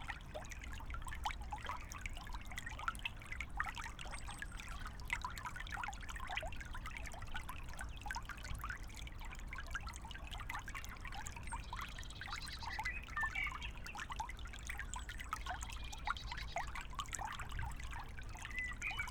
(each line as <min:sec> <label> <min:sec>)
0:09.4 water flow 0:19.1